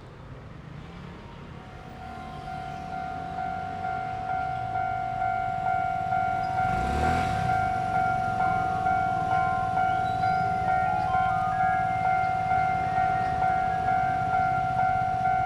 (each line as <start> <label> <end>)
0.0 Traffic sound 15.4
1.0 Train traveling through 15.4